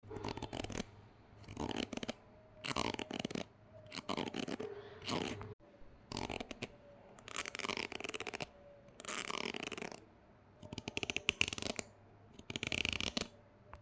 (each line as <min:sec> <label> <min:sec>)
0:00.0 Eating Hard Crunchy Object 0:10.0